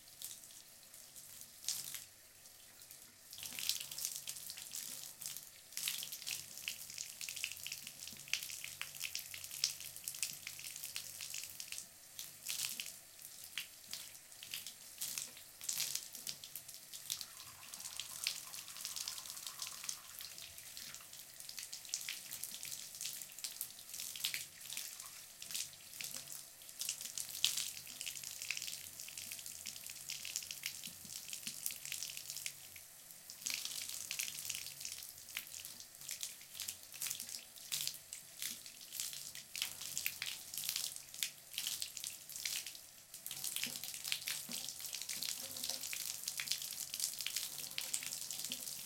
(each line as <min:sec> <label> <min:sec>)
0:13.6 tap water 0:22.6
0:24.2 tap water 0:26.4
0:30.2 tap water 0:31.7
0:43.2 tap water 0:48.8